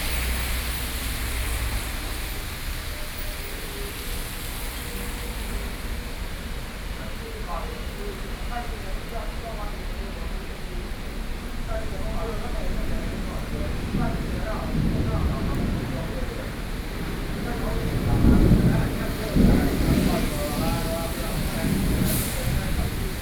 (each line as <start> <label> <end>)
0.0 Traffic Noise 23.2
6.7 conversation among workers 23.2
7.0 Community broadcasting 23.2
11.6 Thunderstorm 23.2